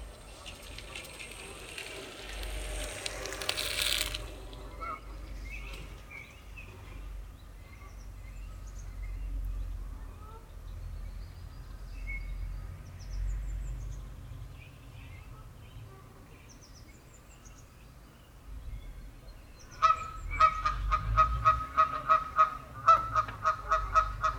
Canadian geese make a lot of noise 19.8 - 24.3

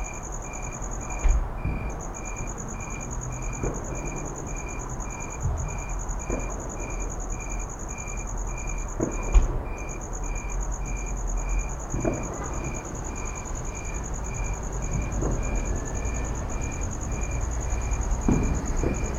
firework ambience from afar 0.0 - 19.1

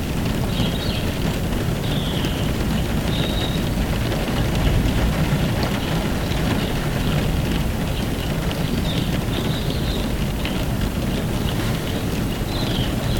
BIRD SINGING 3.1 - 3.7
BIRD SINGING 12.4 - 13.1

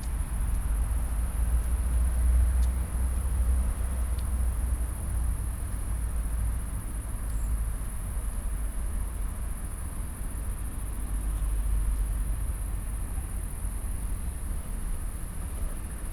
crickets 0.0 - 16.1
light breeze in poplar trees 0.0 - 16.1

